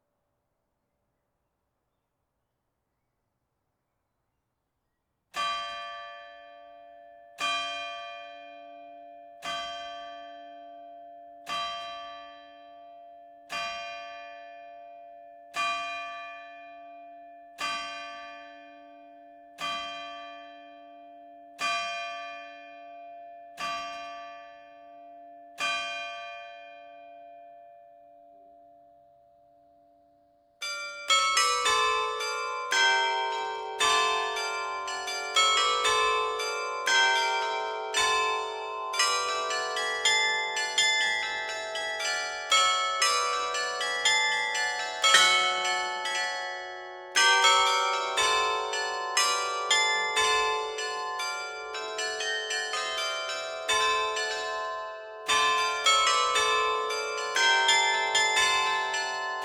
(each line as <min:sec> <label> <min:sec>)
0:30.7 Carillon 0:59.4